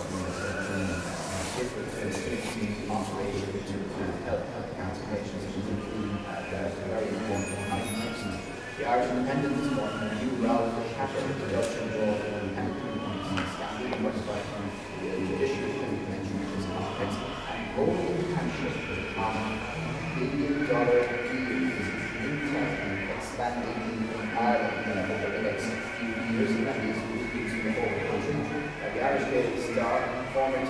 people fidgeting 0.0 - 4.2

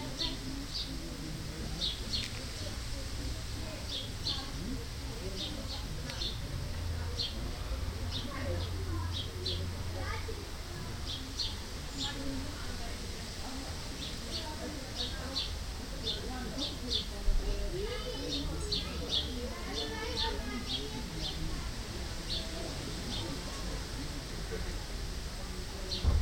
Birds 0.0 - 26.2
neighbours chatting 0.0 - 26.2
wind 0.0 - 26.2

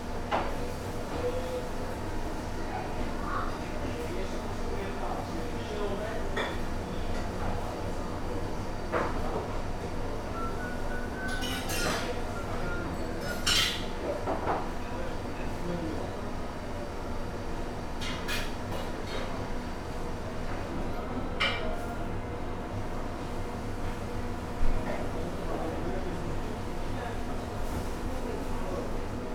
AC hum 0.0 - 29.3
staff conversations 0.3 - 29.3
beep of the convection oven 10.0 - 13.4

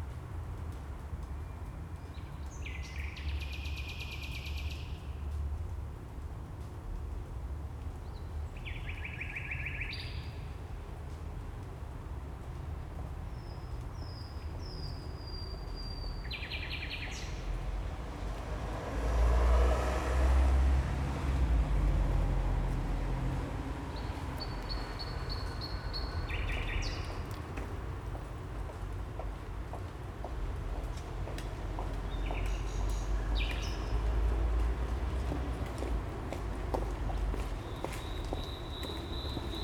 song of a nightingale 8.1 - 10.4
song of a nightingale 13.3 - 17.6
song of a nightingale 23.9 - 27.3
song of a nightingale 32.1 - 34.1
song of a nightingale 37.6 - 39.6

